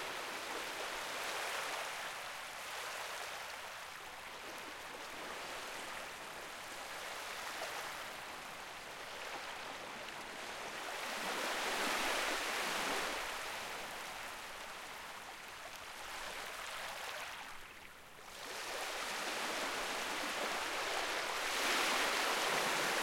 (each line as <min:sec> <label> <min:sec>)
0:00.0 sparkly fresh water lapping on the seaside 0:23.0